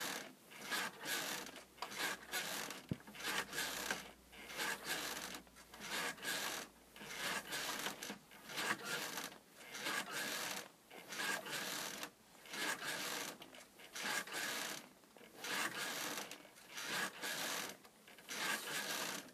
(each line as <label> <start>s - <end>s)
bed springs creaking 0.6s - 10.6s
bed springs creaking 18.3s - 19.2s